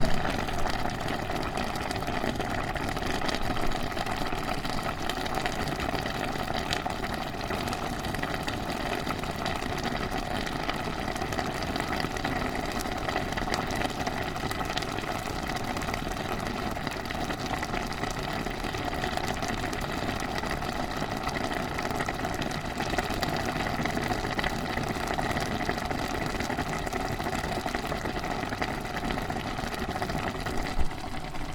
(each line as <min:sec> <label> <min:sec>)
0:00.0 boiling soup 0:31.5